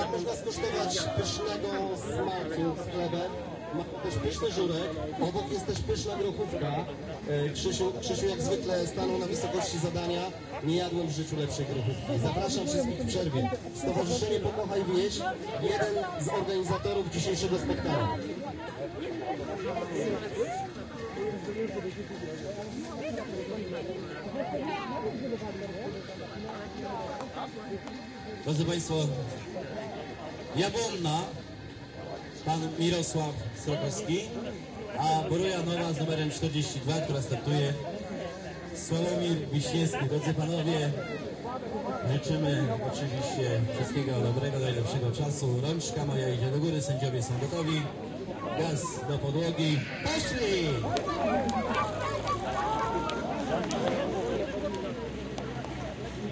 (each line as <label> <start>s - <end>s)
crowd 0.0s - 56.3s
tractor race 0.0s - 56.3s